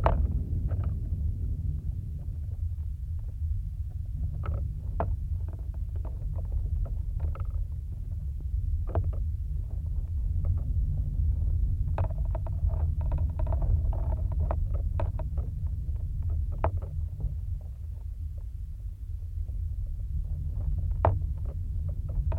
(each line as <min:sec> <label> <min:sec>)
0:02.2 contact mic attached to plastic fence 0:18.6